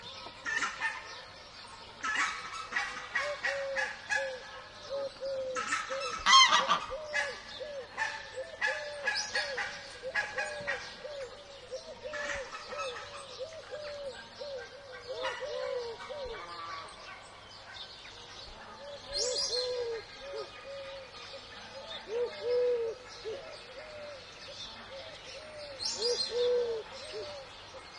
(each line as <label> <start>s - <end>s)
sparrow 0.0s - 27.9s
geese 5.6s - 7.4s